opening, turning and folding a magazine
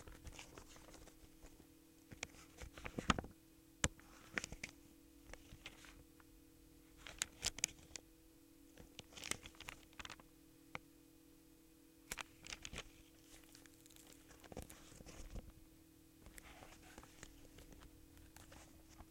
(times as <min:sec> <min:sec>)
0:07.0 0:08.0, 0:08.8 0:10.2, 0:12.1 0:15.5